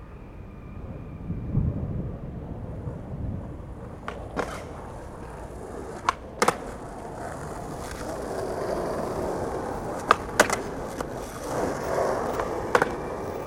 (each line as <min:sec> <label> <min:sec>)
0:02.7 Skater 0:13.4